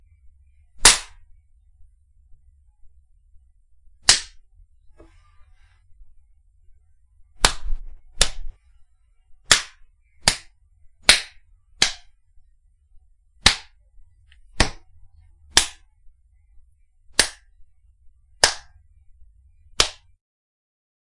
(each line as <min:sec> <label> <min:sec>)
0:00.8 Various Slaps 0:01.3
0:04.0 Various Slaps 0:04.4
0:07.4 Various Slaps 0:08.6
0:09.4 Various Slaps 0:12.2
0:13.4 Various Slaps 0:14.9
0:15.5 Various Slaps 0:15.9
0:17.1 Various Slaps 0:17.6
0:18.4 Various Slaps 0:18.8
0:19.8 Various Slaps 0:20.2